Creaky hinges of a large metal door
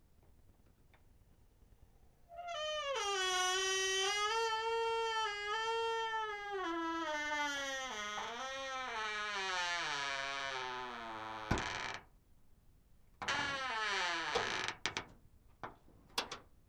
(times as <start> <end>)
2.3 12.1, 13.2 15.1